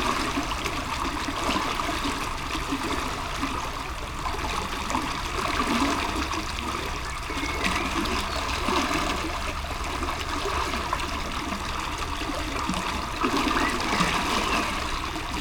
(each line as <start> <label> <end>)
0.0 river 15.4